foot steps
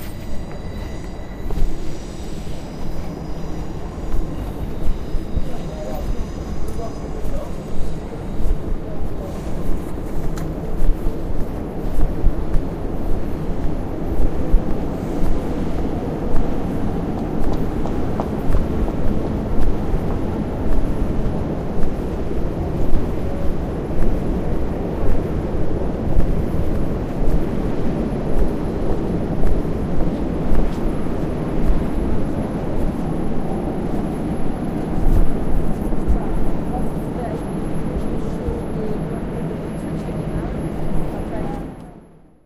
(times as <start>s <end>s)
4.0s 24.2s